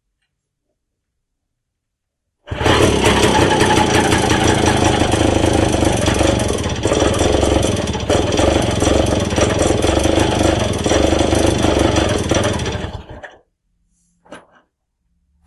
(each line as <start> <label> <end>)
2.5 pedaling the bike on its stand 13.4
2.5 Sachs engine of a 1938 light motorbike 13.4